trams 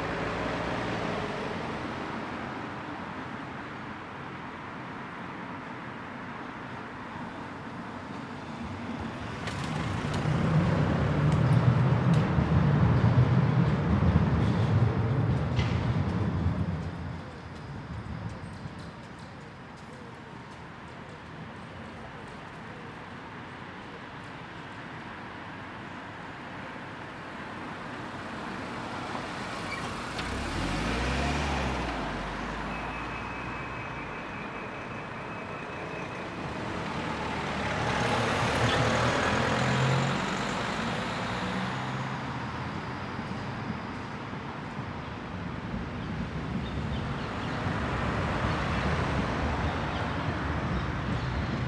7.2s 27.2s, 31.7s 51.6s

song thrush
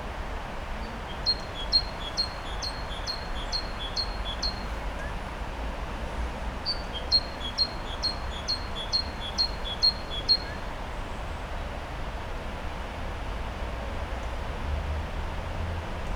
1.1s 5.1s, 6.6s 10.6s

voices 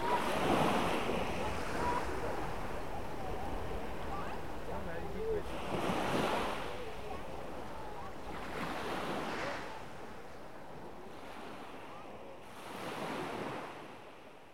0.0s 10.2s

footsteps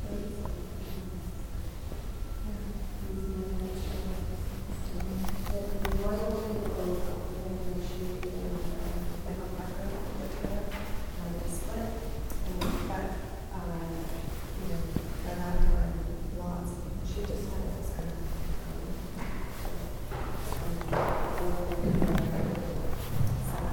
17.2s 23.7s

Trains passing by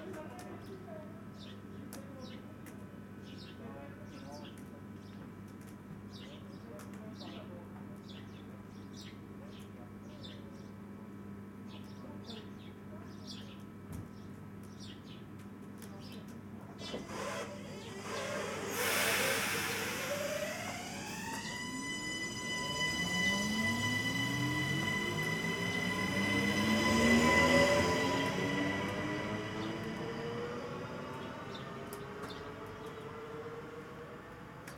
17.0s 34.7s

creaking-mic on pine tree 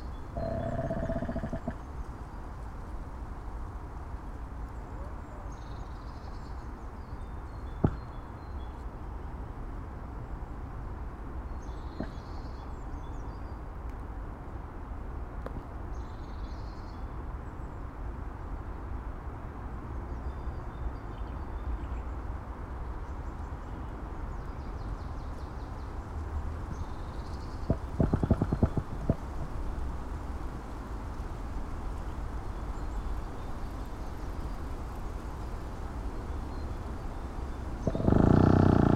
0.0s 1.8s, 7.8s 8.1s, 27.5s 29.7s, 37.7s 38.9s

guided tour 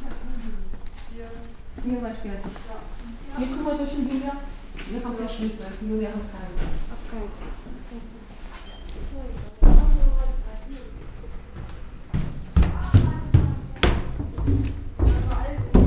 9.0s 15.8s

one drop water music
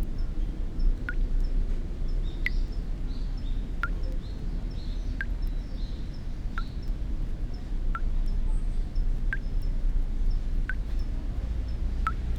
12.0s 12.3s

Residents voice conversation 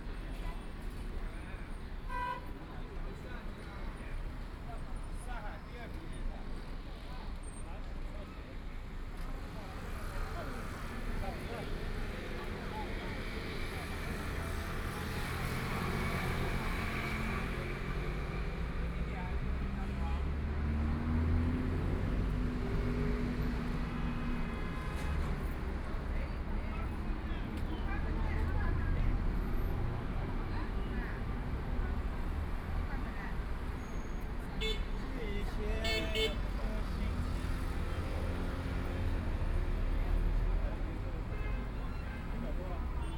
9.2s 43.1s

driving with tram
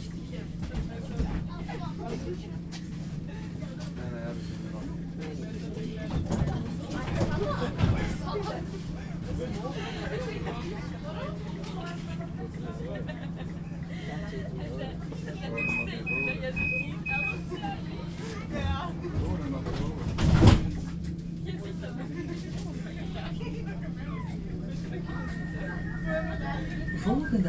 14.4s 27.4s

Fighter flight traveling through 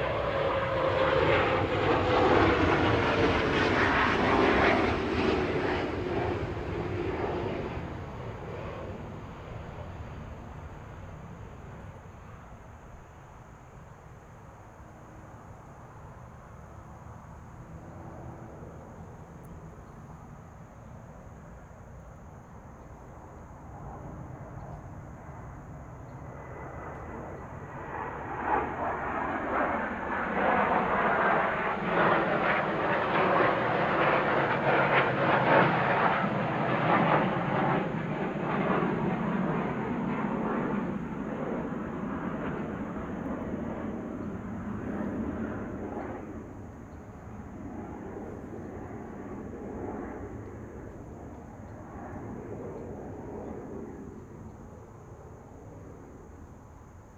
0.0s 12.4s, 23.7s 56.3s

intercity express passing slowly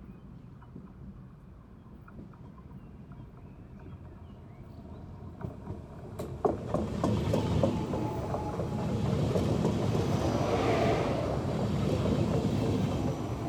3.8s 13.4s

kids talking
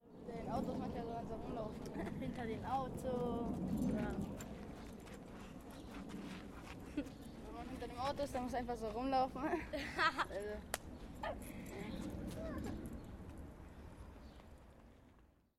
0.2s 4.4s, 7.0s 13.0s

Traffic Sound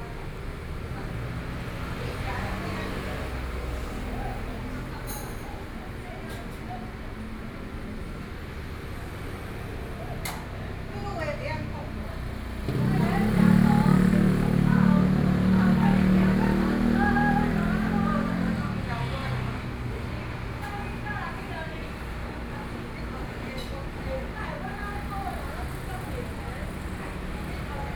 7.1s 27.9s

